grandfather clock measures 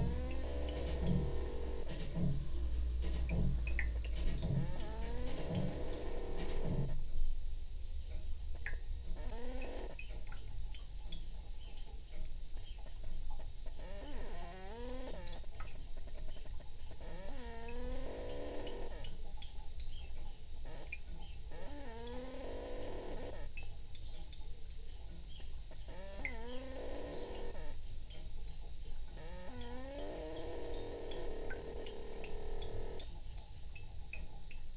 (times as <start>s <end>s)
0.0s 7.0s